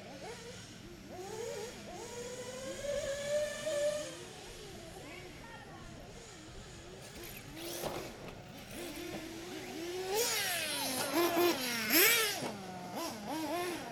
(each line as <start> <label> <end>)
7.0 Cars catching air on the jumps 12.8